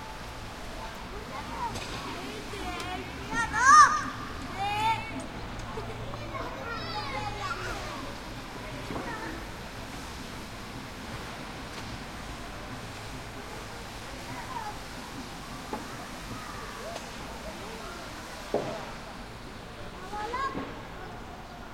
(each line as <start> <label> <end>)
0.8 kids playing in rubble 9.6
13.4 kids playing in rubble 19.0
19.8 kids playing in rubble 21.7